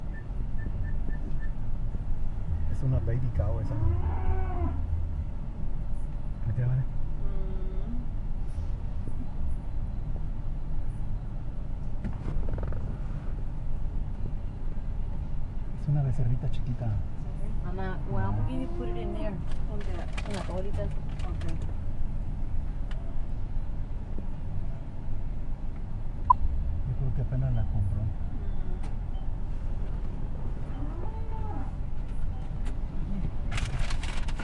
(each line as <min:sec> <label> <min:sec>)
0:00.0 cars 0:34.4